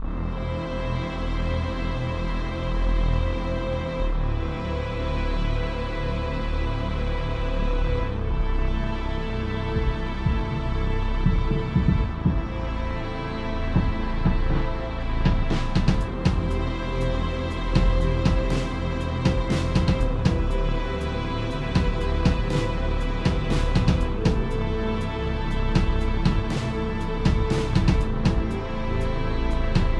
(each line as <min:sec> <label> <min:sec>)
0:00.0 bass 0:29.9
0:00.0 strings 0:29.9
0:00.0 synth 0:29.9
0:09.8 drums 0:10.6
0:11.2 drums 0:12.6
0:13.7 drums 0:28.6
0:29.7 drums 0:29.9